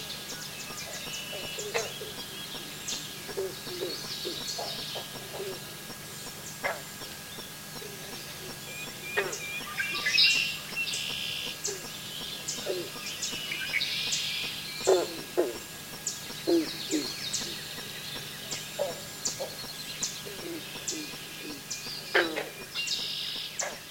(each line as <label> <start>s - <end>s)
birds 0.0s - 23.9s
frogs 0.0s - 23.9s
insects 0.0s - 23.9s